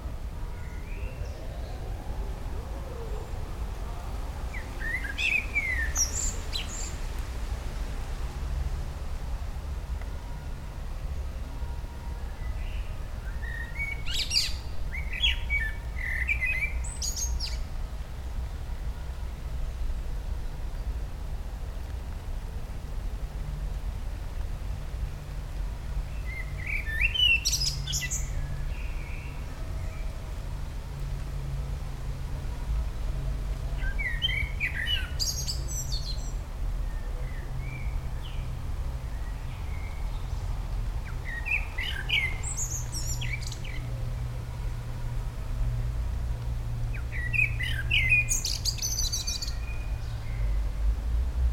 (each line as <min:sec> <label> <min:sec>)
0:00.0 bassy, low frequencies of nearby and dense traffic 0:51.5
0:00.0 rain 0:51.5